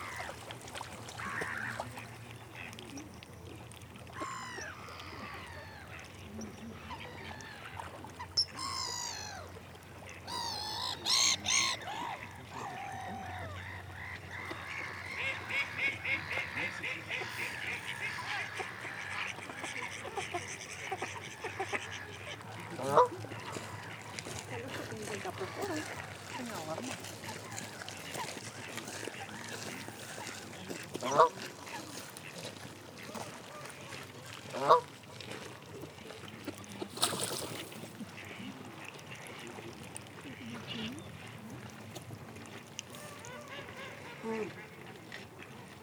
Blackhead gull 1.1 - 2.7
Canada goose 1.1 - 3.0
Mallard duck 1.1 - 3.0
Mallard duck 4.2 - 35.4
Canada goose 4.2 - 35.8
Blackhead gull 10.1 - 22.4
Domestic goose 10.1 - 24.2
Canada goose 42.9 - 45.8
Mallard duck 42.9 - 45.8

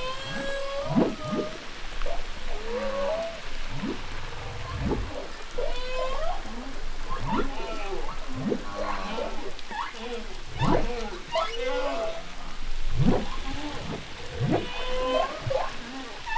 humpback whales 0.0 - 16.3

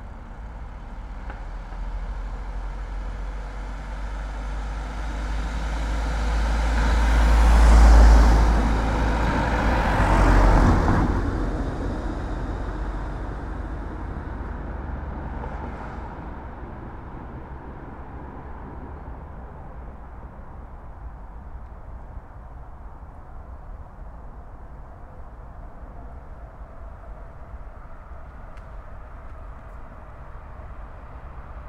Cars drive past 0.0 - 21.6

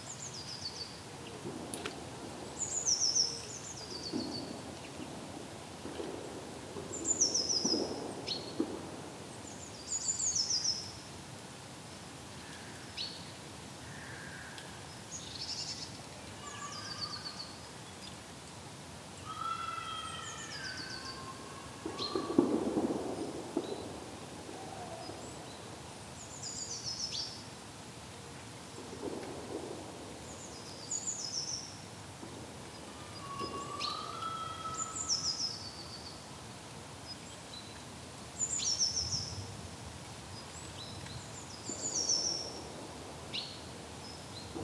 distant clay pigeon shooting 21.8 - 25.1

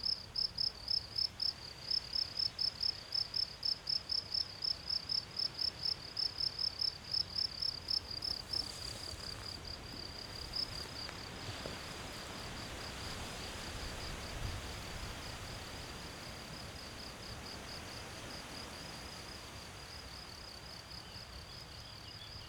crickets 0.0 - 22.4
wind in trees 7.5 - 21.5

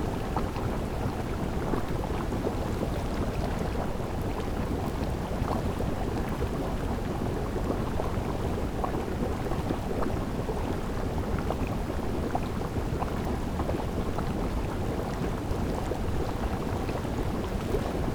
Fumarola-natural boilling water 0.0 - 18.1

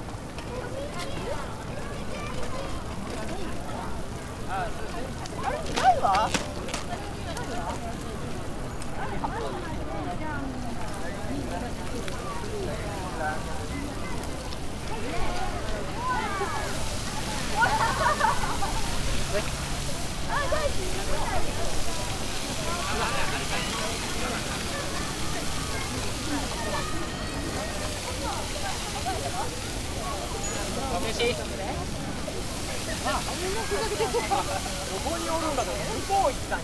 a lot of visitors 0.0 - 36.6
fountain 0.0 - 36.6

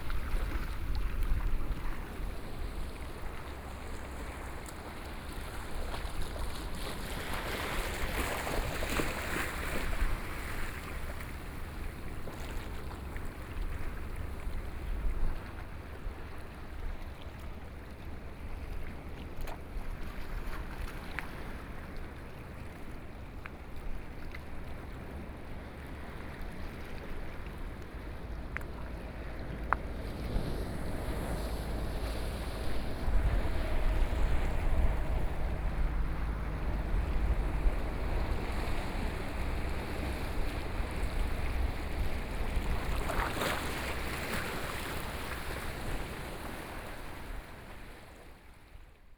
waves 0.0 - 49.1
Traffic Sound 28.0 - 44.3

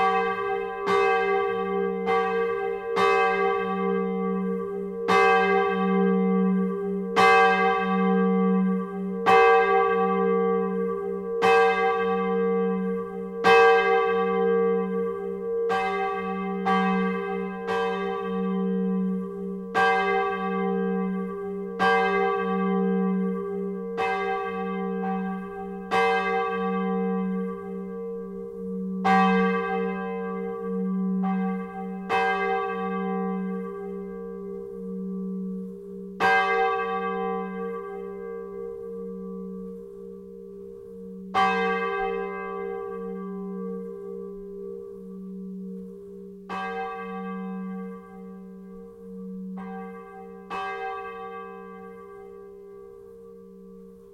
bell of the magnificent Gallardon church 0.0 - 54.1

